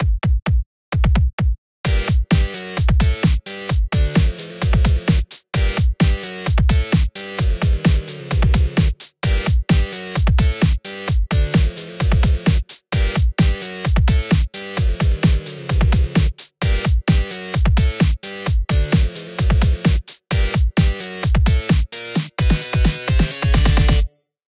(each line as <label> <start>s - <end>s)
drums 0.0s - 24.1s